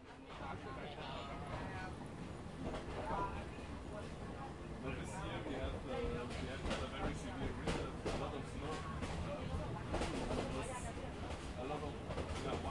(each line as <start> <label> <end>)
0.0 Train 12.7